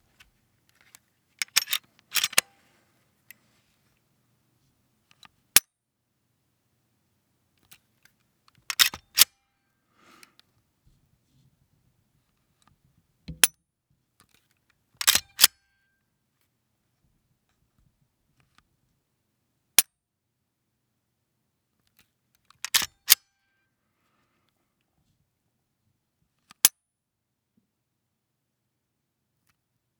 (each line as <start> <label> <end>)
1.4 pulling of a Glock 17's trigger 2.5
8.7 pulling of a Glock 17's trigger 9.3
15.0 pulling of a Glock 17's trigger 15.5
22.6 pulling of a Glock 17's trigger 23.2